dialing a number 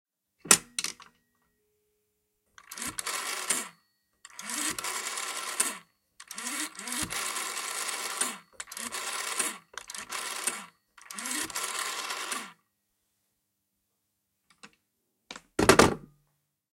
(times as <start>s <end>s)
2.6s 12.6s